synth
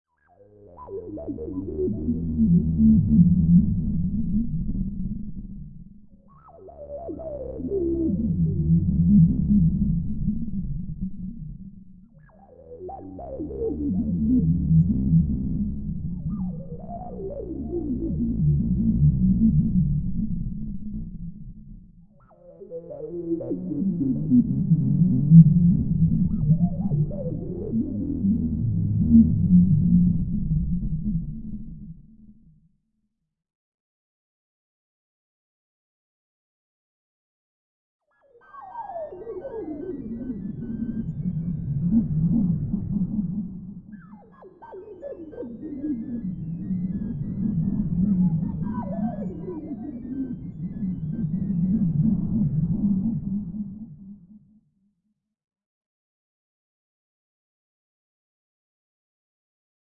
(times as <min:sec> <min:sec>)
0:38.6 0:54.2